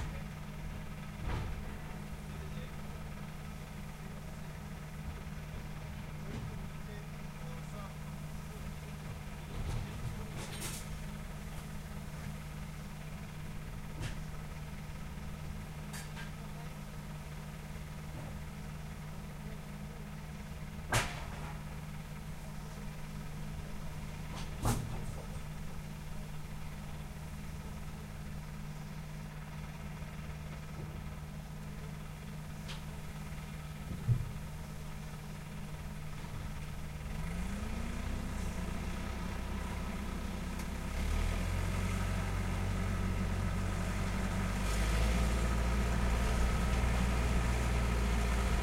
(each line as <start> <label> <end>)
0.0 engine 48.6
0.0 forklift 48.6
0.0 trator 48.6
0.0 truck 48.6
0.0 wind 48.6
1.7 voice 3.0
6.2 voice 10.8
16.4 voice 16.8